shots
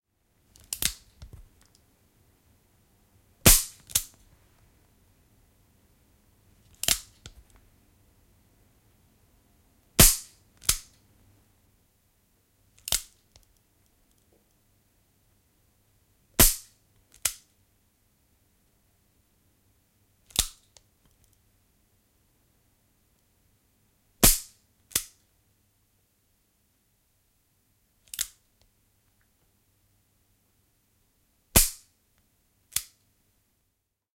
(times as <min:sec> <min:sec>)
0:03.5 0:04.0, 0:10.0 0:10.9